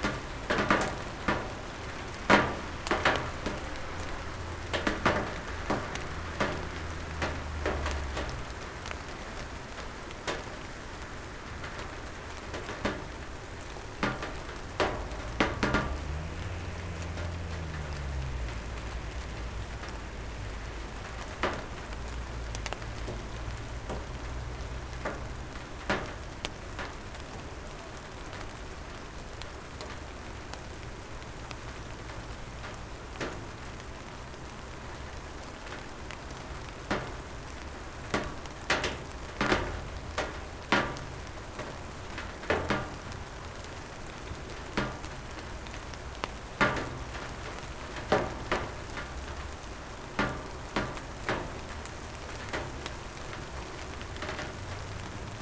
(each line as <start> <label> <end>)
0.0 Calm summer rain 55.4
0.0 Cars driving by 9.8
14.1 Cars driving by 26.9
39.4 Cars driving by 55.4